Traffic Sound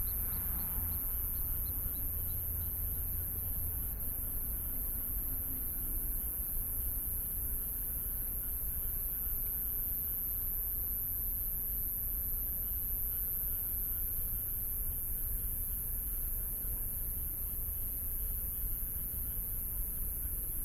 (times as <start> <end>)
0.0 6.0